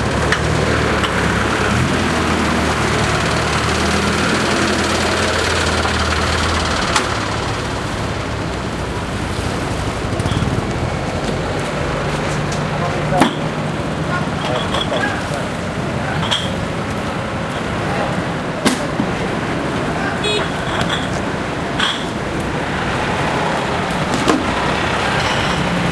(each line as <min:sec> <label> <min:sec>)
0:00.0 crane 0:25.9
0:00.0 very busy dockers - loading ships 0:25.9